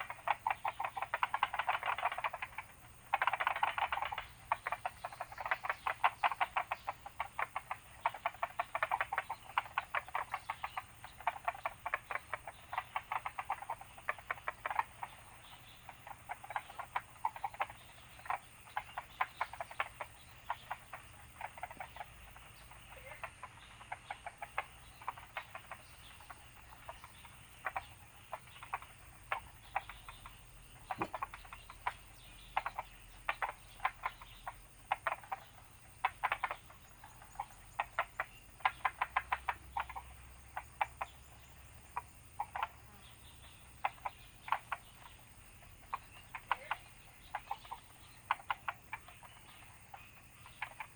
0.0s Bird sounds 50.9s
0.0s Frogs chirping 50.9s

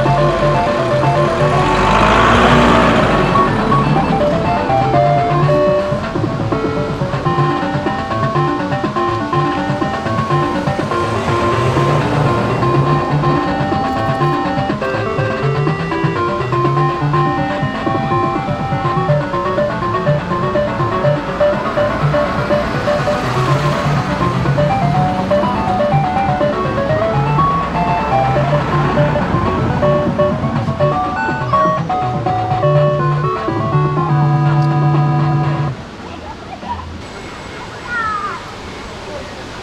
0.0s Grajace automaty 35.8s

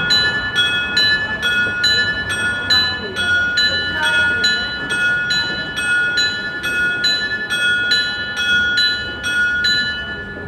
0.0s bell play 10.4s

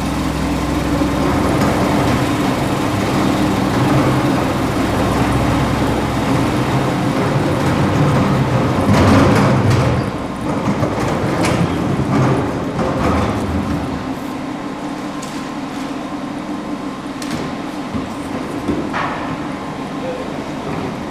0.0s truck takes out the garbage cans 14.4s

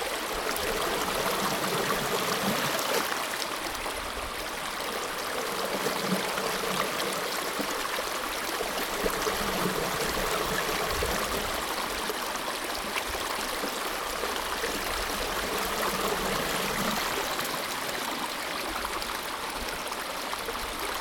0.0s stream of the outflow 21.0s

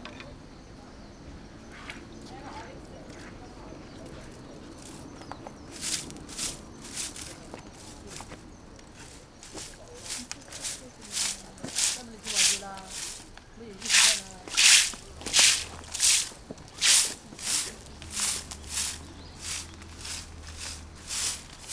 3.3s washing the sidewalk 21.7s
5.7s monk sweeping 21.7s

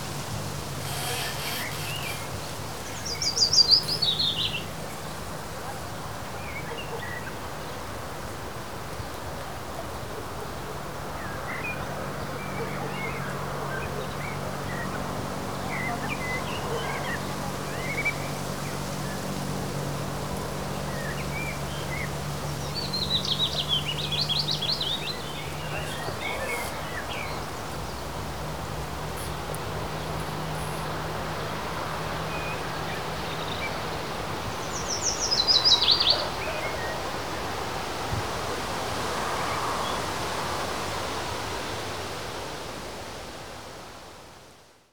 0.0s creaking branches 5.2s
16.6s creaking branches 32.2s

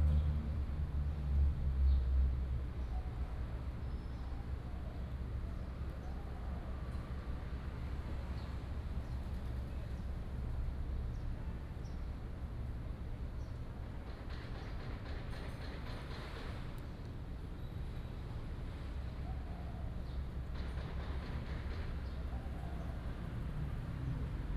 0.0s traffic sound 24.5s

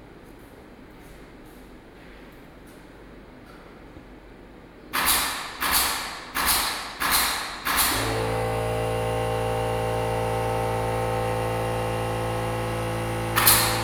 4.9s Construction 13.8s

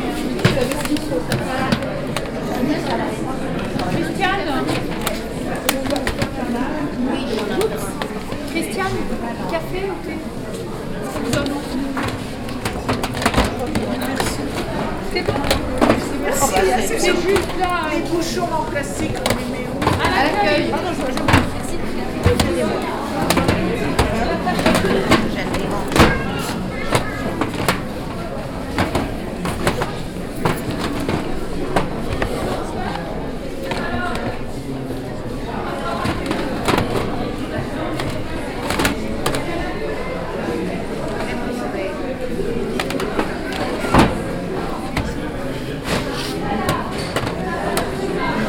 0.0s crowd 48.4s

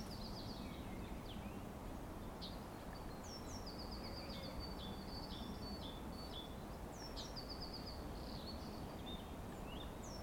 0.0s Forest birds singing 10.2s
0.0s trees rustling 10.2s

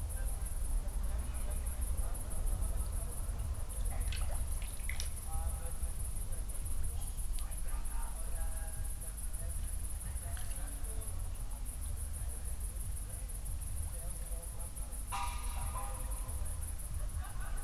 15.1s distant party 17.6s

